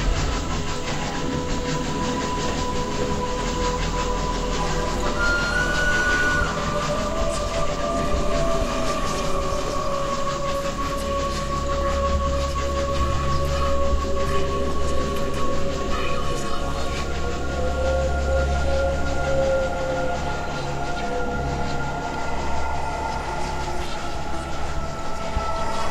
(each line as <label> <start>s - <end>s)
Ambient music 0.0s - 25.9s
Whispering souls 0.0s - 25.9s
steam train running through the station 0.0s - 25.9s
Train whistle 4.6s - 11.9s